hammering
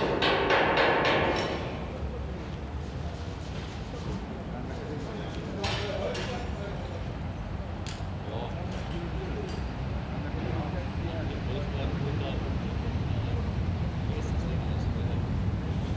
0.0 1.9

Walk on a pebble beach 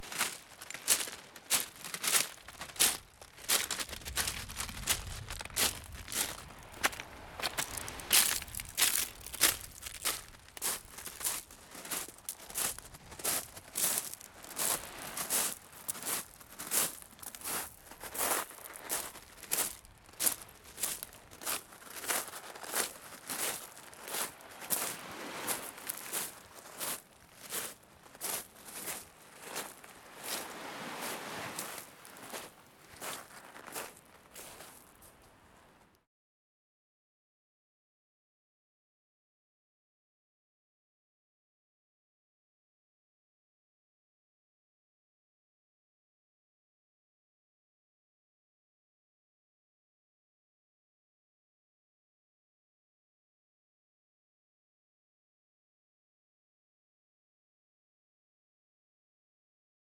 0.0 35.9

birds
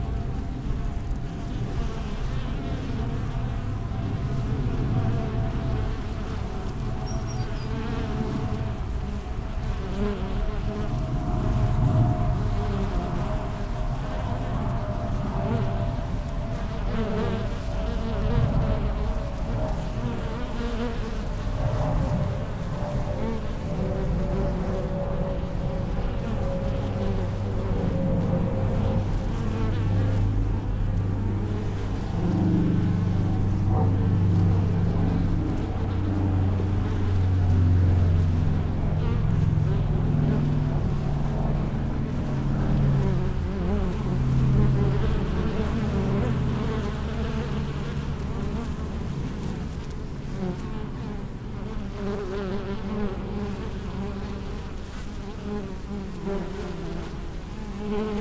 5.8 8.9

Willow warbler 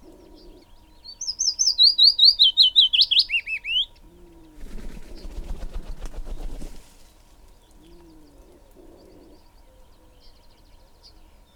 0.0 5.7

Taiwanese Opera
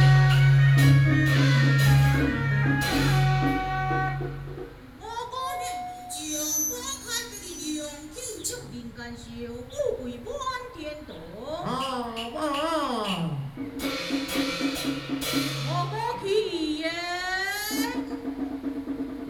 0.0 4.8

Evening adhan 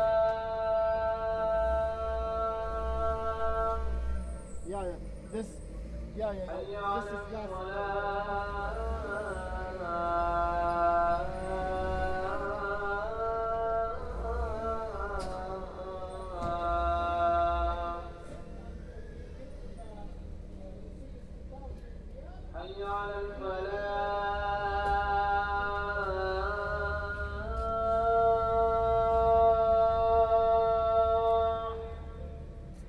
0.0 19.4

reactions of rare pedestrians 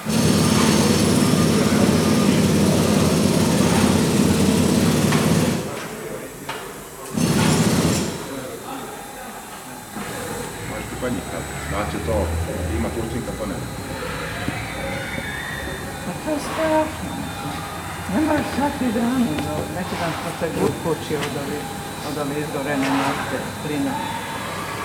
10.1 20.1

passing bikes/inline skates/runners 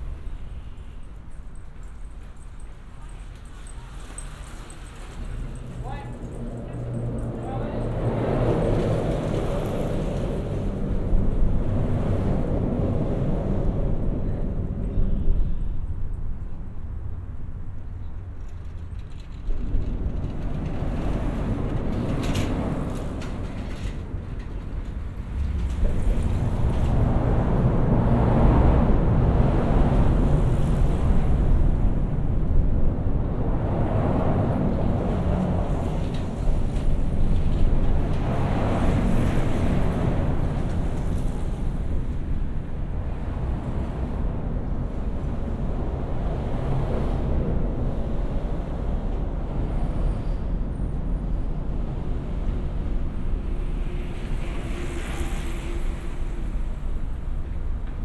18.4 58.0

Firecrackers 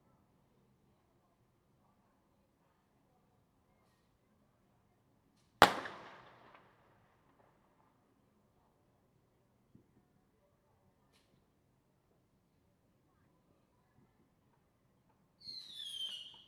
5.6 6.8

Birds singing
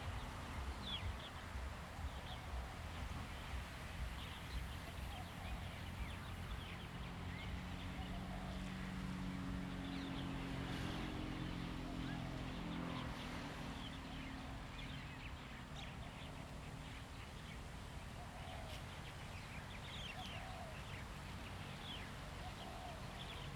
13.8 23.5

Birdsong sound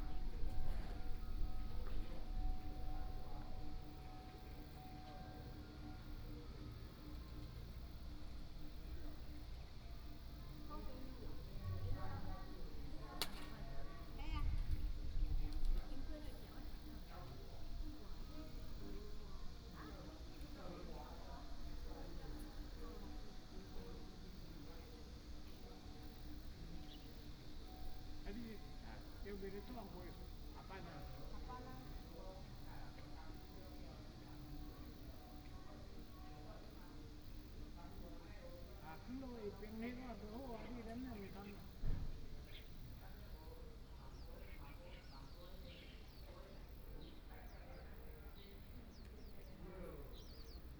42.4 50.7

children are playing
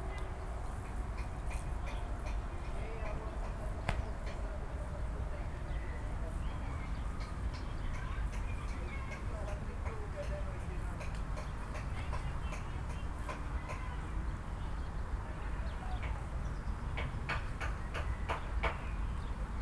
13.2 14.2

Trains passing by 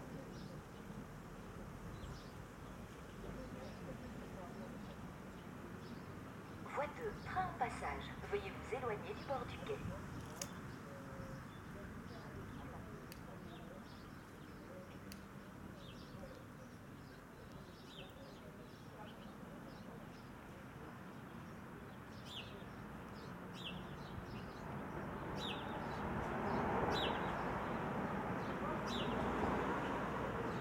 6.7 9.8

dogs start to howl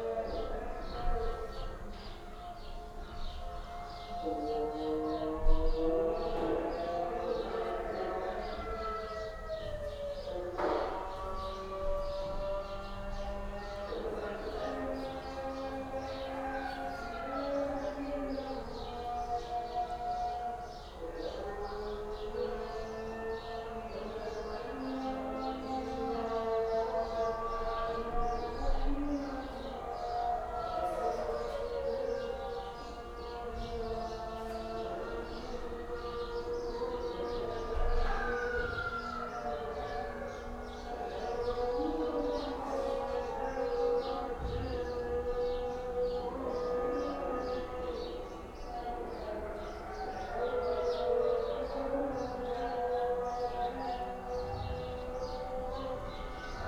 28.0 56.6

